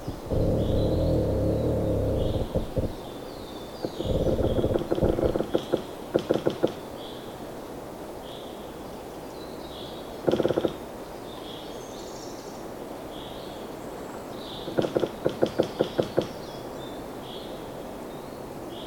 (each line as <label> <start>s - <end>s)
squeaking pine tree 0.0s - 6.9s
squeaking pine tree 10.3s - 10.8s
squeaking pine tree 14.6s - 16.6s